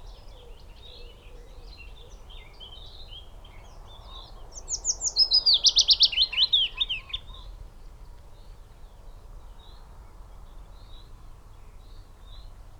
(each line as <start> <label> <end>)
0.0 willow warbler 7.4